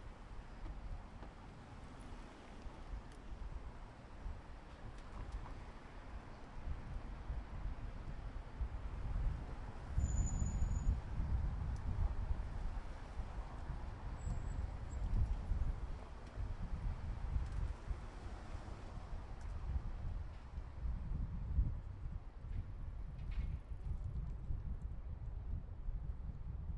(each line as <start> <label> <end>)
0.0 pedestrian 20.8
0.0 traffic 23.8